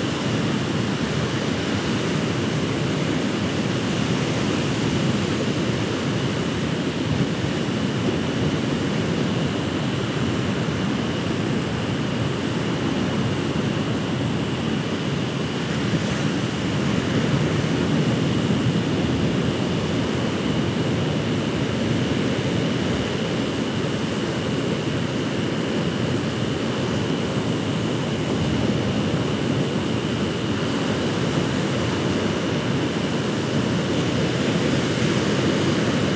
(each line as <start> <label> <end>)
0.0 Rosedale Beach Waves 36.1